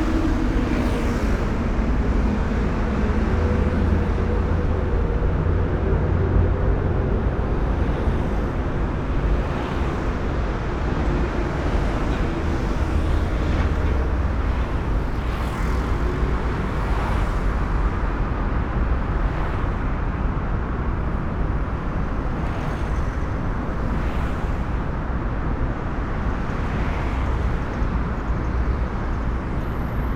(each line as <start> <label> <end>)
0.0 tunnel roar 30.1